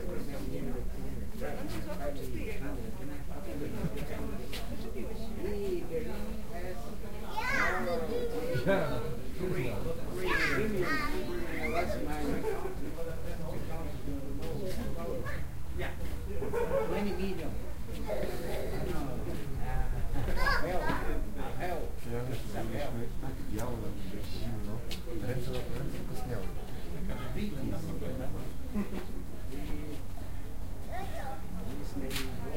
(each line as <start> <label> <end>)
0.0 crowd 32.5